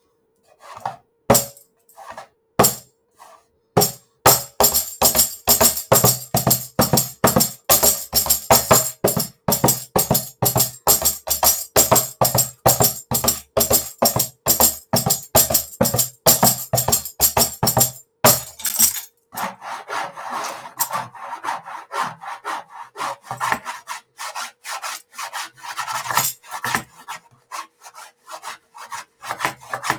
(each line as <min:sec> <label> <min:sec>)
0:01.3 tambourine 0:01.6
0:02.6 tambourine 0:02.8
0:03.8 tambourine 0:19.1
0:26.2 tambourine 0:26.4